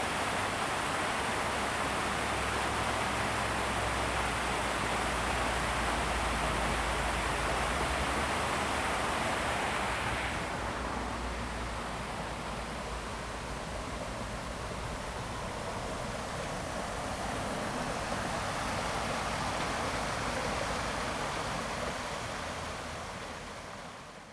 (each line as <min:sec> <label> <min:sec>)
0:00.0 Streams after heavy rain 0:24.3